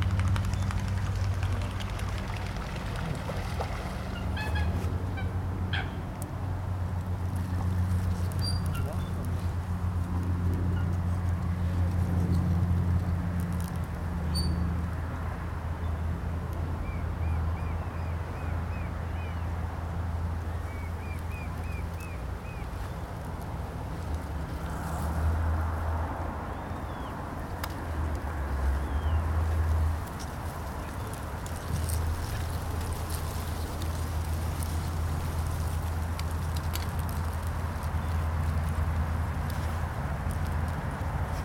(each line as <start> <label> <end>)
0.0 Aircraft passing 13.5
0.0 traffic noise 41.4
20.5 birds 23.3